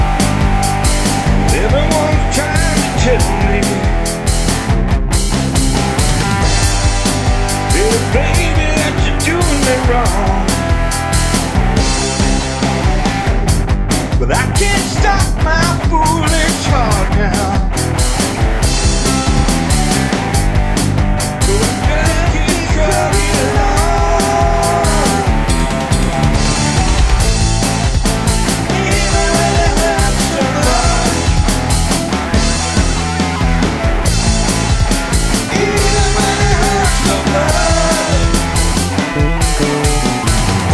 0.0s Yamaha Synthesizer 14.4s
0.0s bass 40.7s
0.0s drums 40.7s
0.0s guitar 40.7s
1.0s vocal 4.1s
7.6s vocal 10.8s
14.1s vocal 17.9s
15.6s Yamaha Synthesizer 40.7s
21.3s vocal 32.8s
35.1s vocal 40.7s

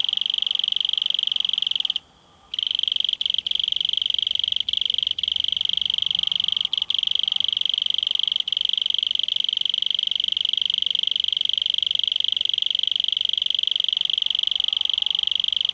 0.0s Strong cricket call in foreground 15.7s

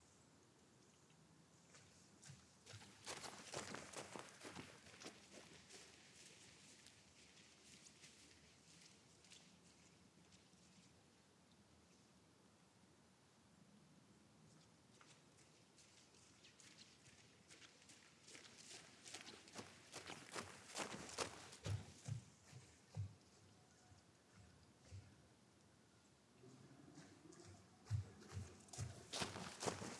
2.2s Fast walking 6.4s
16.6s Fast walking 25.2s
27.0s Fast walking 29.9s

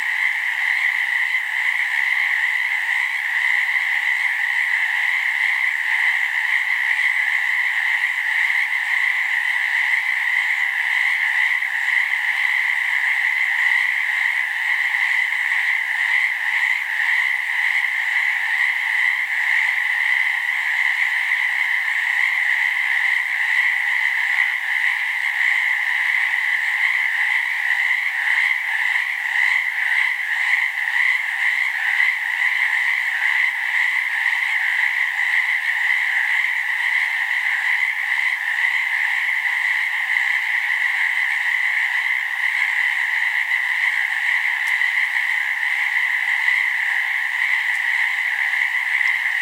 0.0s frogs 49.4s

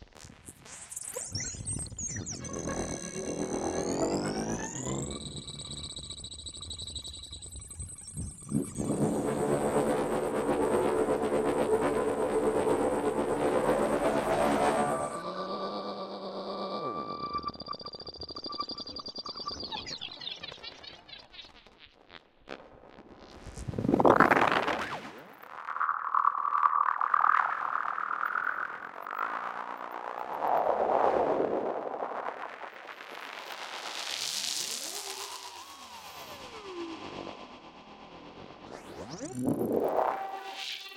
1.3s drone 19.6s
34.6s drone 40.9s

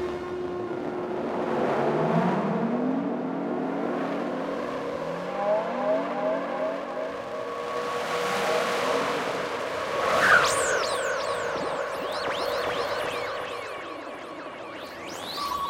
0.0s drone 15.6s

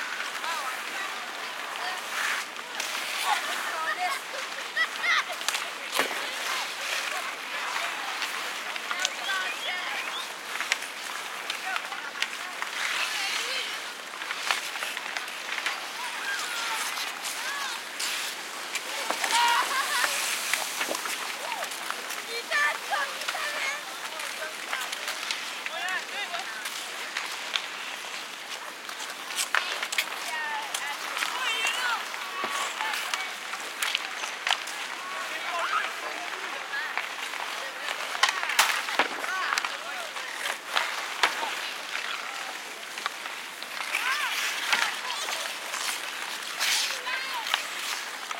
0.0s skating 48.3s
0.8s kids 13.8s
14.4s kids 26.3s

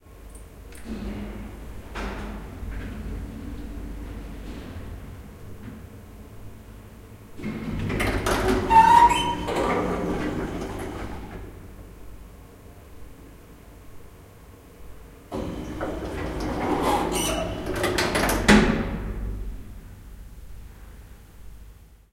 0.7s elevator 12.2s
15.3s elevator 19.5s

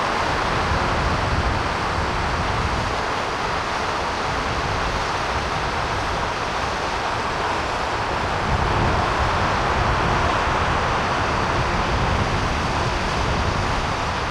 0.0s haunting piping of wind entering the railing 14.3s
0.0s waterfall falling into the see 14.3s

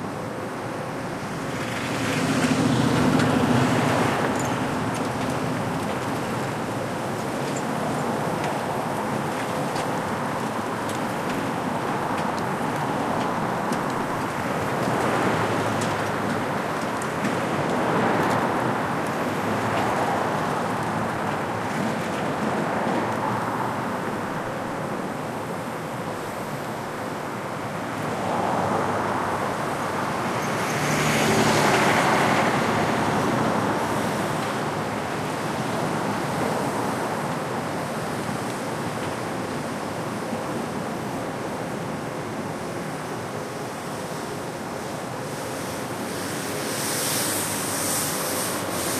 0.0s cars 48.9s
0.0s subway construction workers 48.9s
44.4s cleaners 48.9s

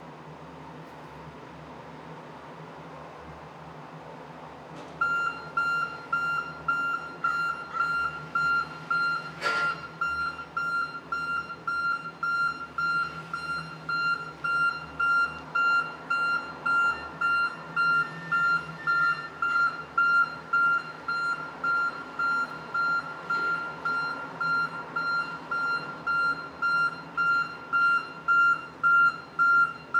0.0s traffic 29.9s
3.5s work van backing up 29.9s
5.0s beeping alarm 29.9s

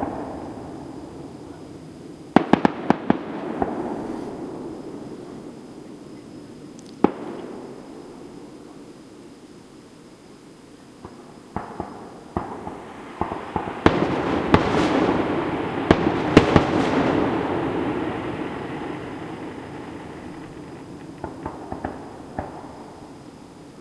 0.0s fireworks and finale 9.3s
10.9s fireworks and finale 23.8s

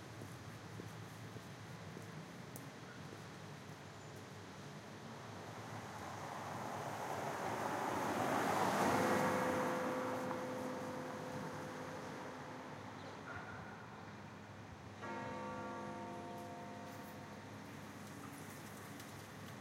0.0s Light Traffic 19.6s
8.9s Bell 14.0s
15.0s Bell 18.9s

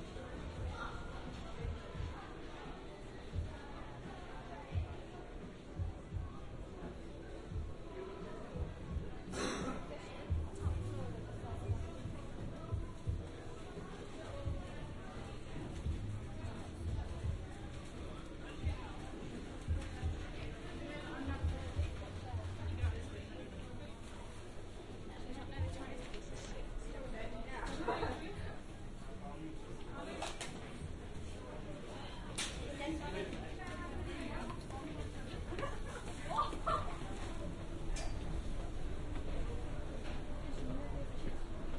0.0s crowd 41.7s

